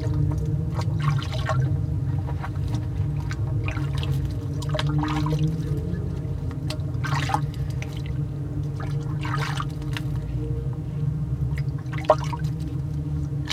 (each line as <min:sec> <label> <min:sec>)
0:00.0 washing resonated in metal container 0:13.5